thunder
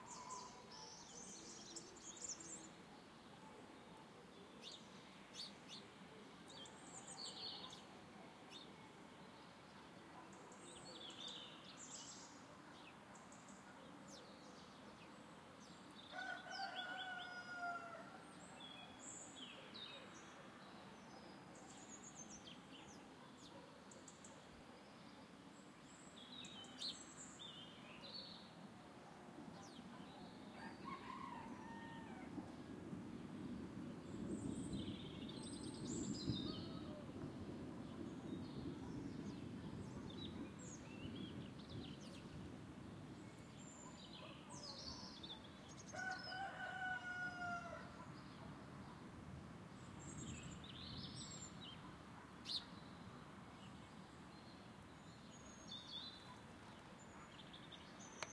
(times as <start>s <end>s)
32.3s 42.8s